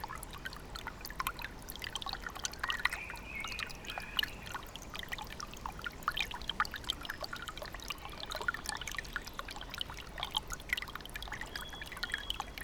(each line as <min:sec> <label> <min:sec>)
0:00.0 gentle rustle of Bogdanka brook flowing over stones 0:12.6